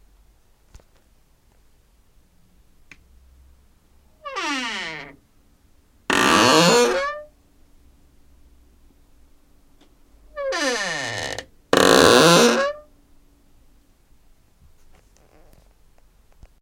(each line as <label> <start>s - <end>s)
squeek doors 4.3s - 5.2s
squeek doors 6.1s - 7.3s
squeek doors 10.4s - 12.9s